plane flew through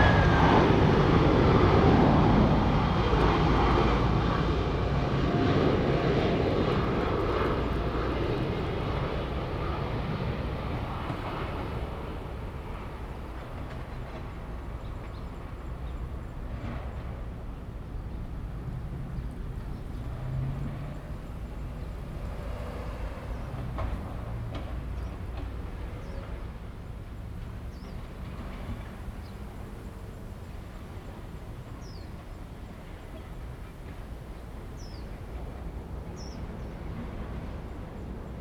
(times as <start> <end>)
0.0 12.8